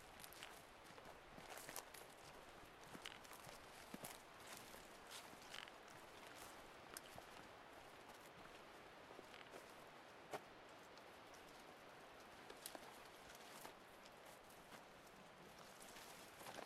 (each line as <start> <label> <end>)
0.0 leaves 16.6
2.8 trekking poles 7.2